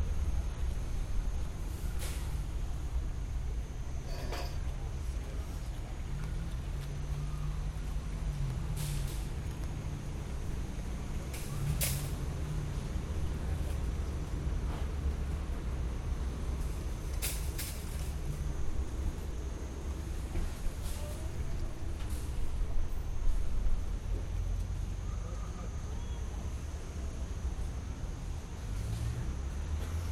0.0s taxi in the parking lot, waiting for instructions 30.1s

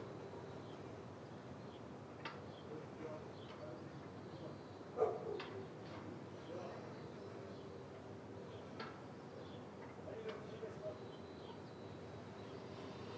6.7s semi distant bell tower 13.1s

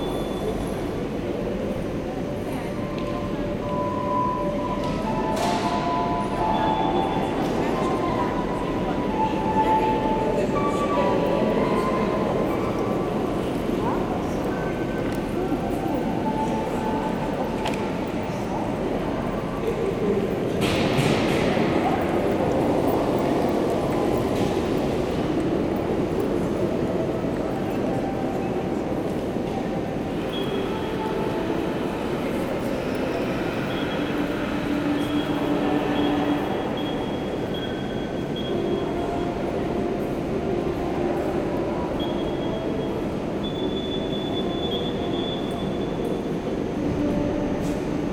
0.0s People buying tickets on automatic machines 48.1s

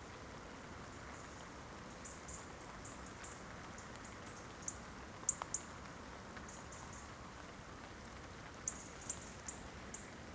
0.0s light rain 10.3s

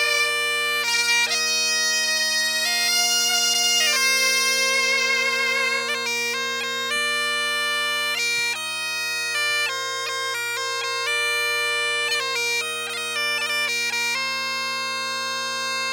0.0s Traditional britton music 15.9s

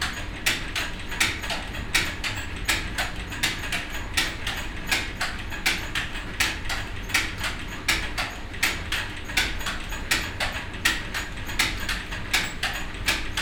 0.0s mills running water wheel 13.4s
0.0s tooth bell drive running with a constructed imbalance 13.4s

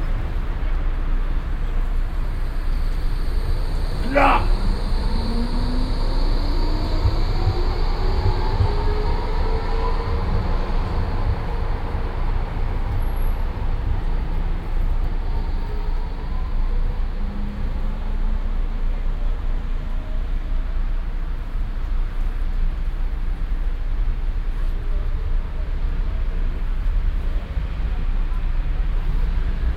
0.0s tram arrives 29.7s
4.0s drunken homeless man at tram station uttering single vowels 4.9s

